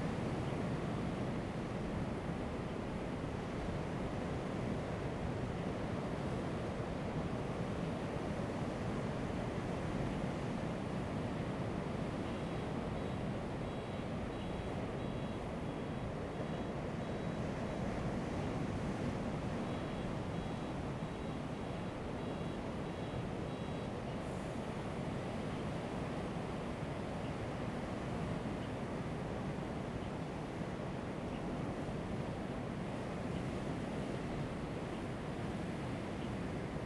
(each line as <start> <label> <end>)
0.0 waves 36.8